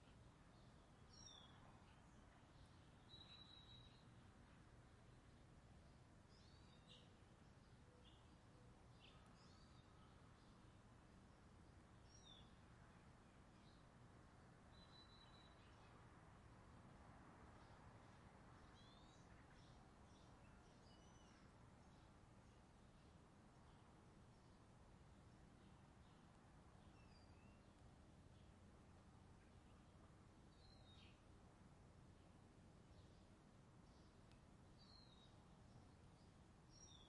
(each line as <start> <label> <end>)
0.0 Birds 16.1
17.4 Birds 37.0